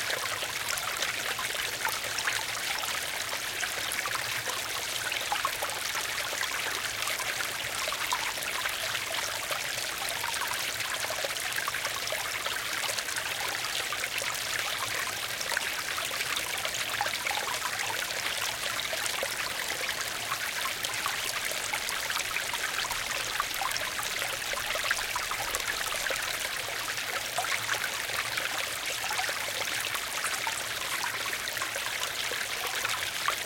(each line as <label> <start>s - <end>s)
Small brook gurgling and babbling nearby 0.0s - 33.4s